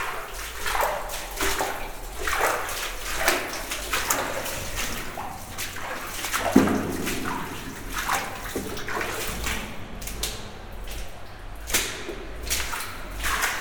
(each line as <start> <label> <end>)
0.0 Walking in the mine 13.6